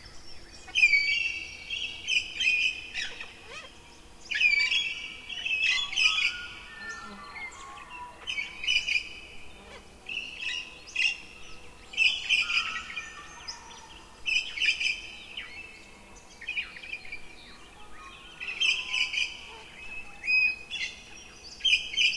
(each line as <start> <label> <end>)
0.0 fly 22.1
0.0 insect 22.1
3.0 cockatoo 3.8
5.9 cockatoo 8.6
9.6 cockatoo 10.0